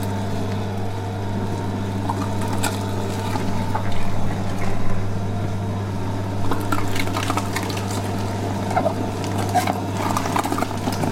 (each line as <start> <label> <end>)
0.0 Meat Grinder 4.8
6.4 Meat Grinder 11.1